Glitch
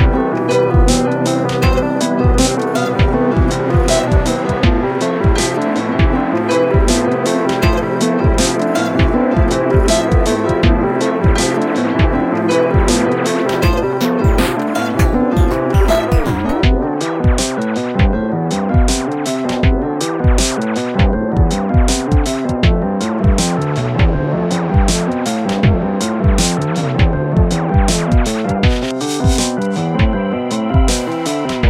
0.4 16.7

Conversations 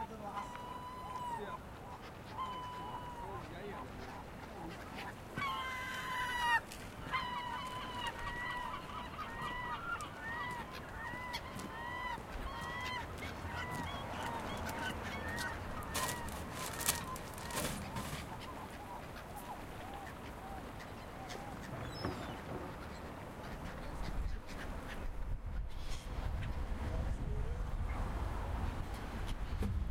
0.0 9.5

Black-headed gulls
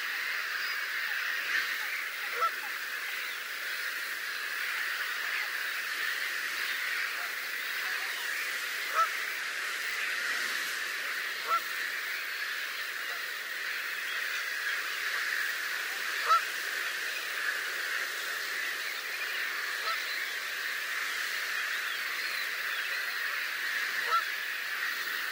12.3 20.5

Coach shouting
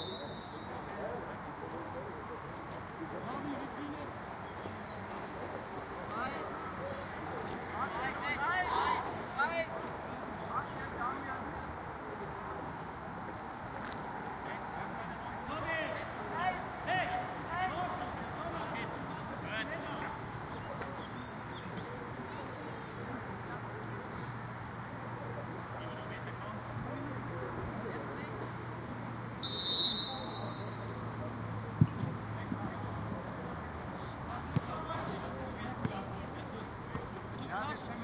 7.8 9.7

